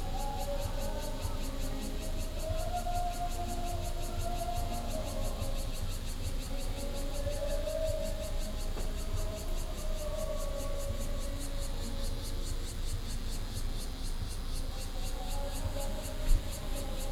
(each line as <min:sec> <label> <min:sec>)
0:00.0 walking in the street 0:17.1